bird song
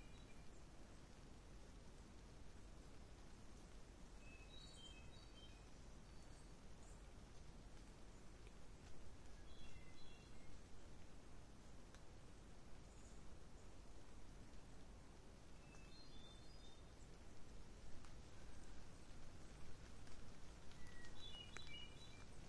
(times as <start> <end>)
0.0 0.7, 4.2 7.1, 9.3 10.7, 12.8 13.8, 15.5 17.1, 20.6 22.4